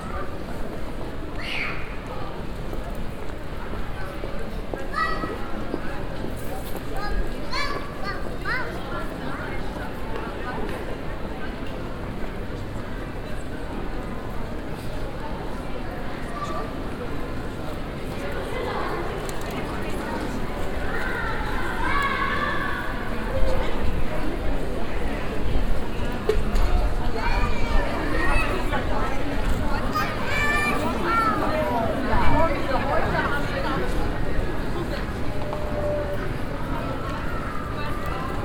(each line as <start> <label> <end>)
0.0 voices of passing by people 38.4
0.2 steps on the stone pavement 11.0